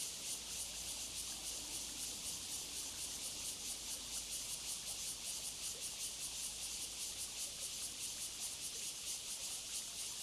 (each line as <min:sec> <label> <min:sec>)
0:00.0 Cicadas 0:10.2